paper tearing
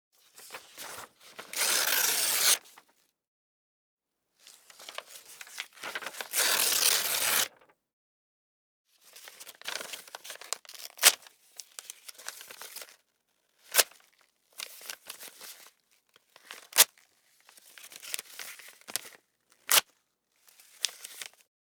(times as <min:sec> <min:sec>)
0:00.9 0:02.6, 0:05.9 0:07.6